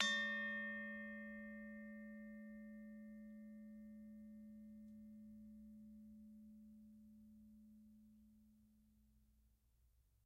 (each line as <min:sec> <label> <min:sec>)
0:00.0 Gamelan 0:02.5